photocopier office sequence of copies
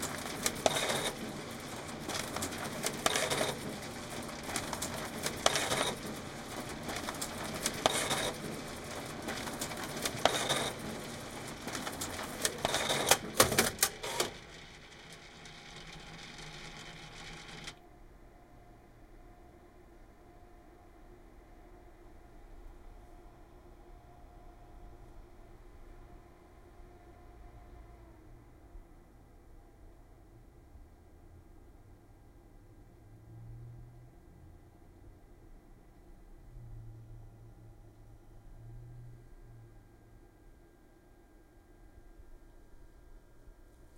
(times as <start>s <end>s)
0.0s 17.8s